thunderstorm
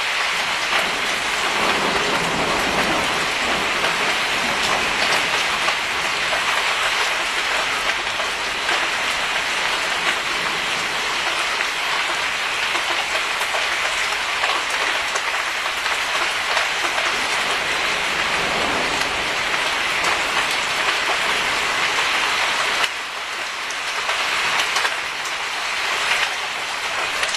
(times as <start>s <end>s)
0.0s 11.4s, 13.5s 22.9s